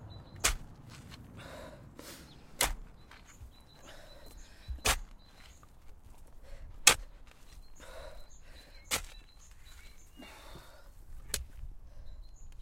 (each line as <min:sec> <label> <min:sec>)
0:00.0 Birds 0:12.6
0:00.0 Wind 0:12.6
0:00.0 Continuous digging 0:12.6
0:01.4 breathing 0:02.4
0:03.8 breathing 0:04.8
0:06.3 breathing 0:06.8
0:07.8 breathing 0:08.9
0:10.1 breathing 0:11.0
0:11.8 breathing 0:12.4